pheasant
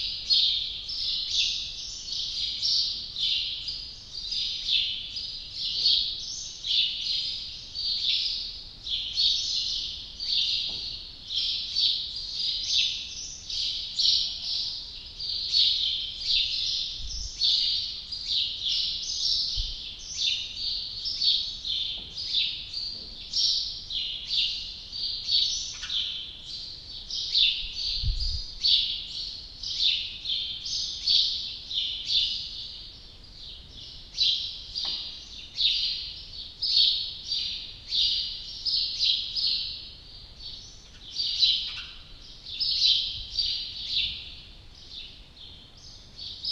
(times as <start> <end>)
9.0 26.6, 40.8 44.3